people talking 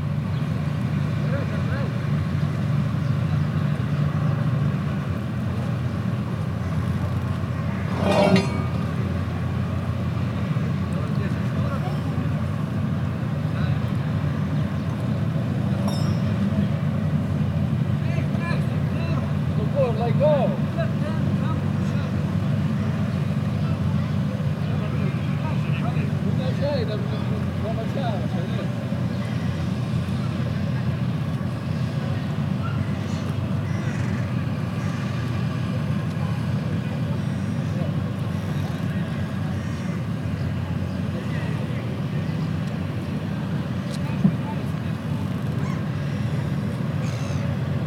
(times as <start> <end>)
10.8 12.7, 18.0 28.8, 43.8 45.5